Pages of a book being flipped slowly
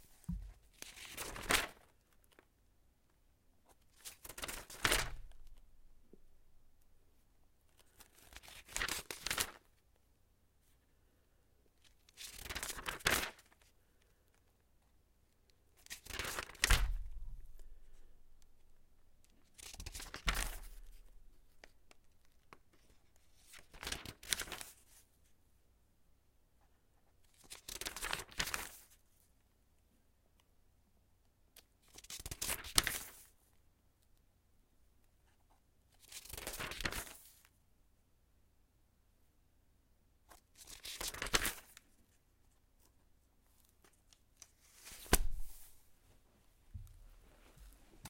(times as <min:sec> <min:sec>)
0:00.0 0:02.5, 0:03.6 0:05.7, 0:07.7 0:09.8, 0:11.8 0:14.9, 0:15.5 0:17.8, 0:18.4 0:25.3, 0:26.6 0:29.3, 0:31.6 0:34.1, 0:35.2 0:37.6, 0:40.2 0:48.0